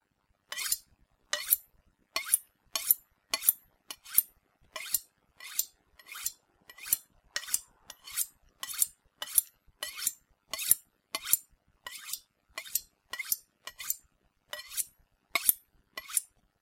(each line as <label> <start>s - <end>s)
Sharpening a knife 0.5s - 16.4s